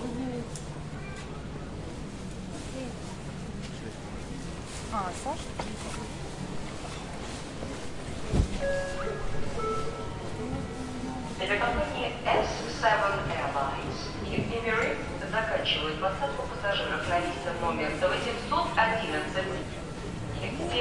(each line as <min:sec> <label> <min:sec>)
0:08.6 Announcement departures 0:20.8
0:10.4 People talk 0:19.8
0:20.4 People talk 0:20.8